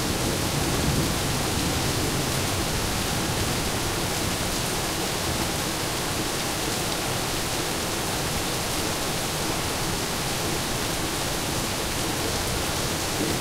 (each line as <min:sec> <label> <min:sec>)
0:00.0 Rain 0:13.4